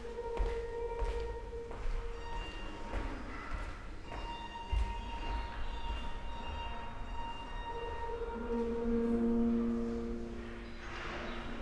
steps 0.0 - 6.7

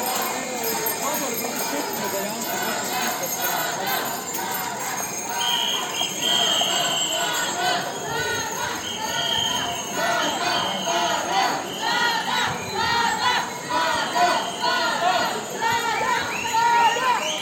Protest 0.0 - 17.4

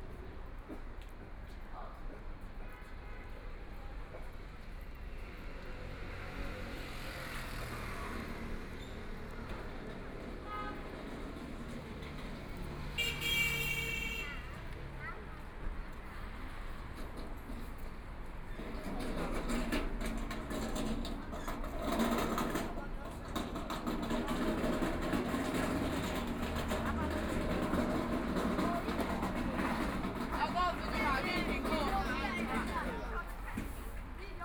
Traffic Sound 0.0 - 34.4

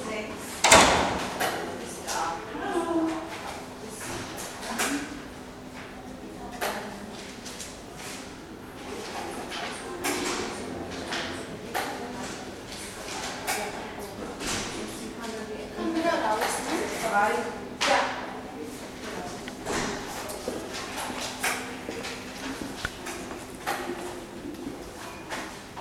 voices 0.0 - 25.8
slamming of doors 0.6 - 1.5

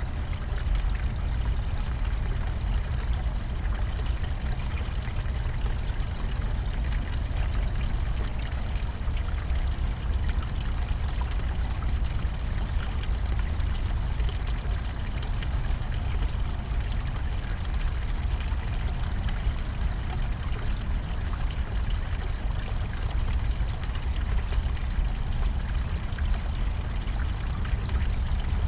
small water stream flows through a basin 0.0 - 28.6

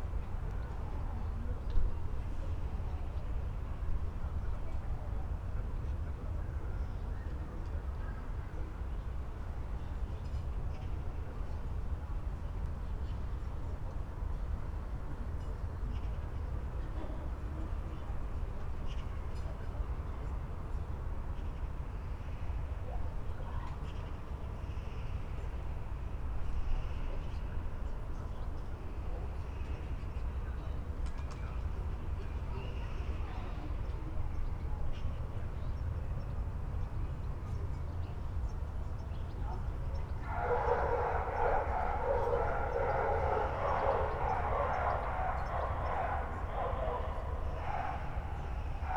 dogs 40.0 - 48.9
magpies 40.2 - 48.9

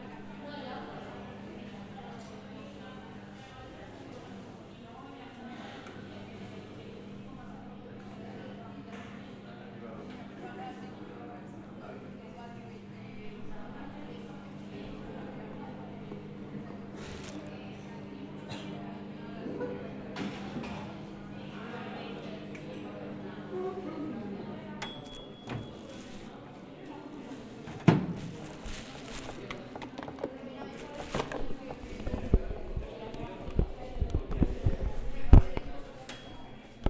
groups of people talking 0.0 - 36.8
people putting their food in the microwaves 16.7 - 17.9
people putting their food in the microwaves 24.8 - 26.5
people putting their food in the microwaves 27.1 - 36.8

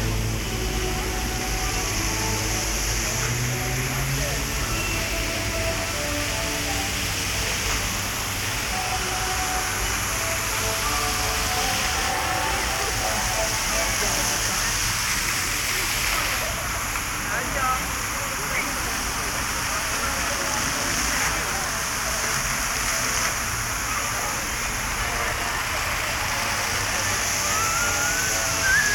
Fountains 0.0 - 28.9
Walk around fountains 0.0 - 28.9

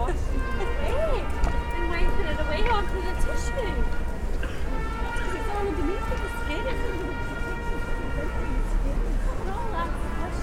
Buskers 0.0 - 10.4

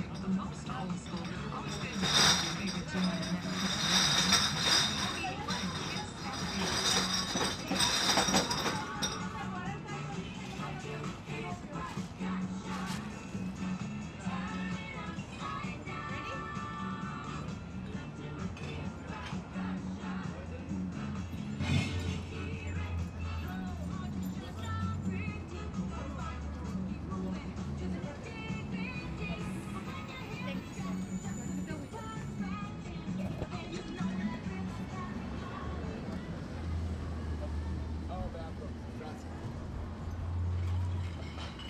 beer bottle recycling 0.1 - 9.4

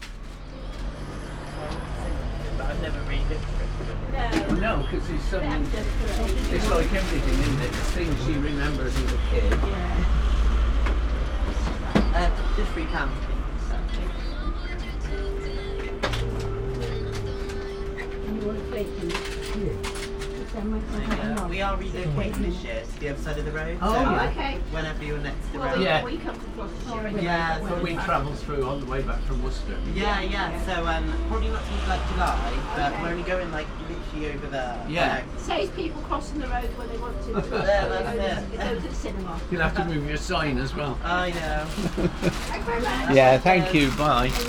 Candid Voices 12.0 - 23.4

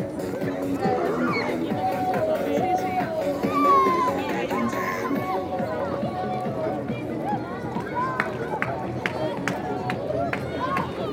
parade of trams 0.0 - 11.1
Seller of cuberdons shouting and joking 0.6 - 11.1

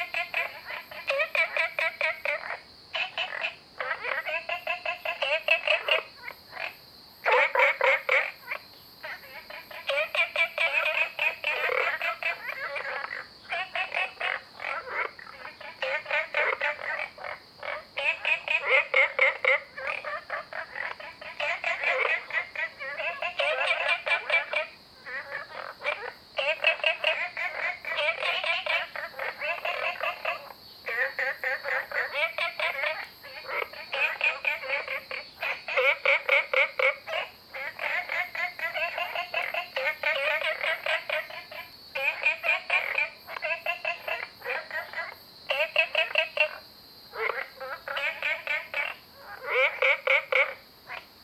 Cicadas cry 0.0 - 51.2
Frogs chirping 0.0 - 51.2

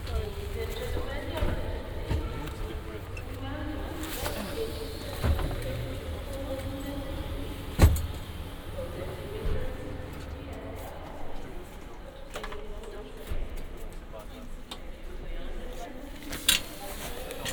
Train arrives 0.0 - 11.8

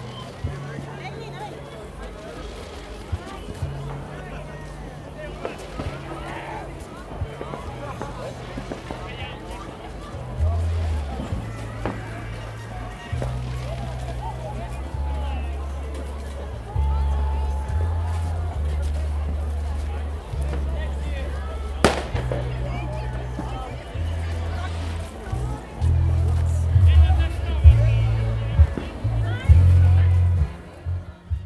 fireworks 5.4 - 14.5
cheers 16.6 - 18.8
fireworks 20.4 - 25.2

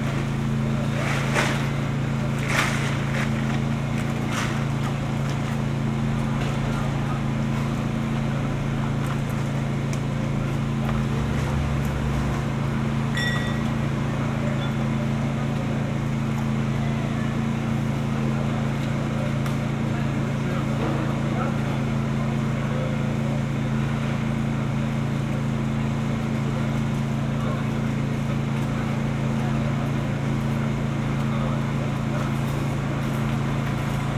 emergency repair of a power line 0.0 - 34.1

